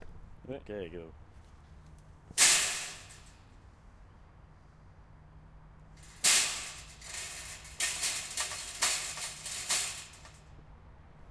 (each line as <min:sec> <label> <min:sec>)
0:02.4 Rattling a section of chain link fence 0:03.5
0:06.0 Rattling a section of chain link fence 0:10.5